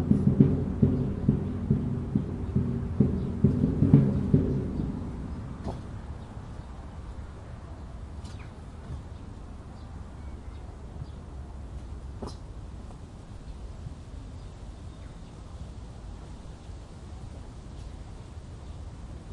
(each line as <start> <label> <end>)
0.0 drumming 6.0
0.0 wind 19.3
0.0 birds 17.0